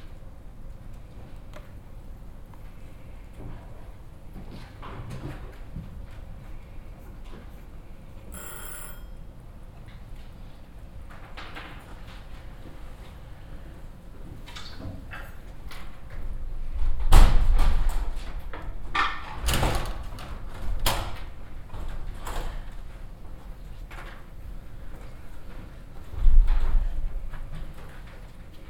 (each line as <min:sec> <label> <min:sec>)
0:08.3 egg timer 0:09.4